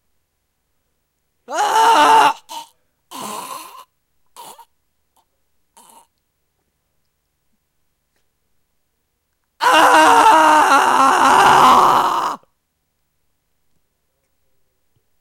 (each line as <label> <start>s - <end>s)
my voice screaming of pain 1.5s - 3.7s
my voice screaming of pain 9.6s - 12.5s